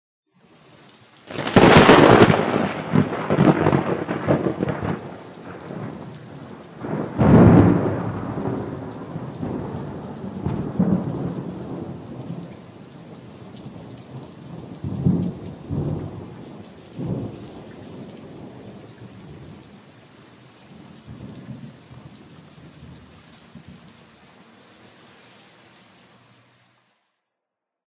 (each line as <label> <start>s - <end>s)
rain 0.3s - 27.3s
thunder 1.3s - 19.8s
thunder 20.7s - 23.9s